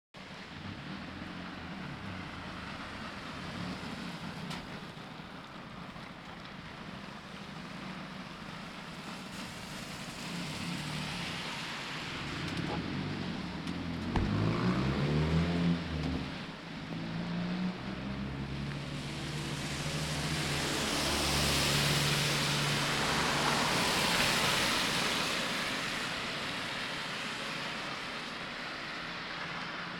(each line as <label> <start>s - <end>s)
cars passing by 0.2s - 29.9s
rain 0.2s - 29.9s